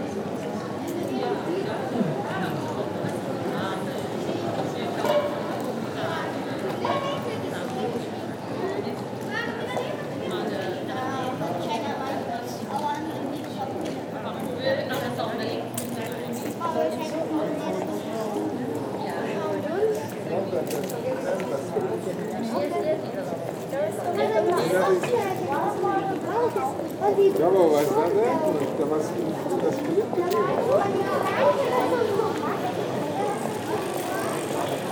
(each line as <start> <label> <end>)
0.2 suitcase, rolling on the cobblestones 34.9
0.5 People discussing 34.9
27.9 bicycles driving fast on the cobblestone 34.9